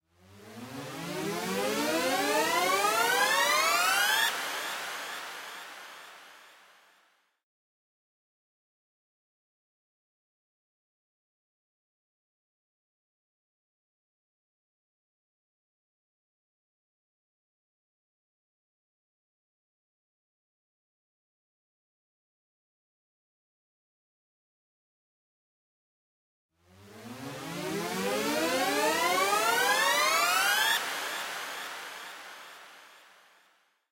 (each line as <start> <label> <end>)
26.7 sweep 33.4